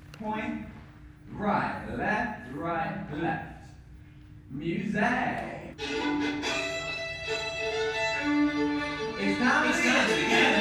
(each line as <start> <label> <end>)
5.9 Dancing 10.6